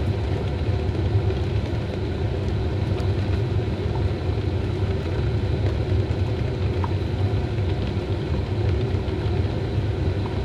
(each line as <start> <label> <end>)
0.0 Boiling 10.4